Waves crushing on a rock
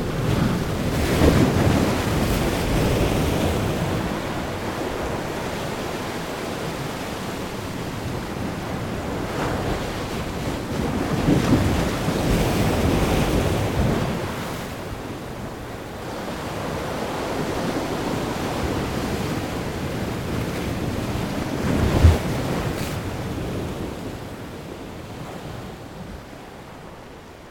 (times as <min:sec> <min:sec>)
0:21.7 0:23.0